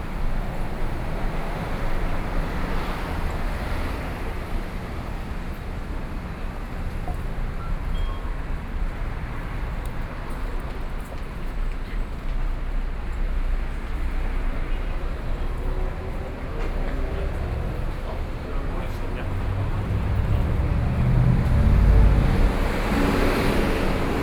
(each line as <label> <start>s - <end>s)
walking in the Street 0.0s - 24.2s